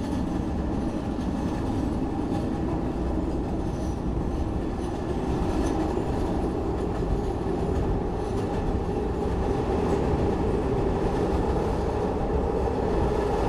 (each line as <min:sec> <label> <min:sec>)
0:00.0 Blue Line train 0:13.4